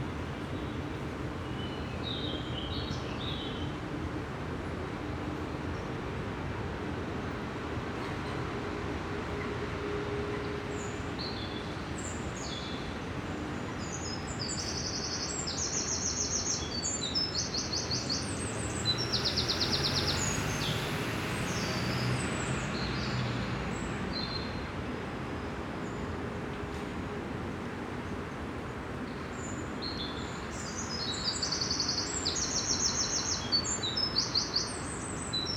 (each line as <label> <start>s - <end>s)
waves of traffic from above 0.0s - 35.5s